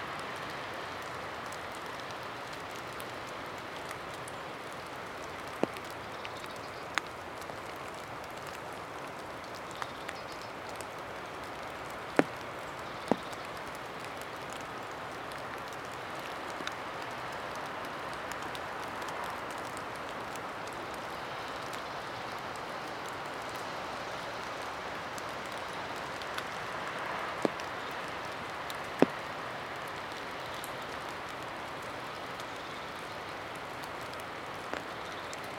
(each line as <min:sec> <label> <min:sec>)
0:00.0 Light rain under an umbrella 0:35.5